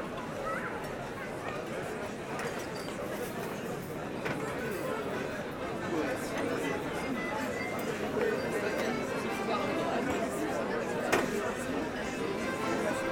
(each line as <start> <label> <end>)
11.4 Happy people 13.1